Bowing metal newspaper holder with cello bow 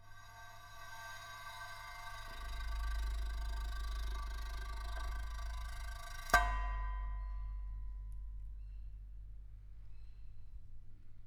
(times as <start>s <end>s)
0.0s 8.0s